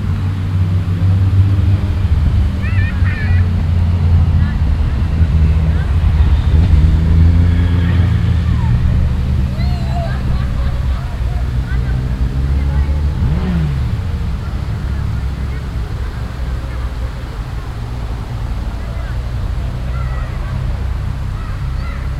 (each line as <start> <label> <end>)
0.0 Noise of a water game 22.1
0.0 People with children 22.1
0.0 traffic 22.1